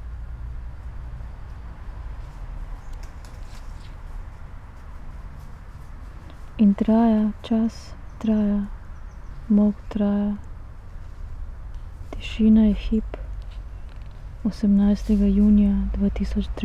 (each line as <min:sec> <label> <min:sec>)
0:06.2 reading poem 0:16.6